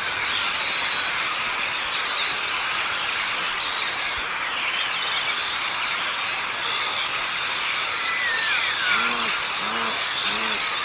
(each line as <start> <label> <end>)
0.0 birds 10.8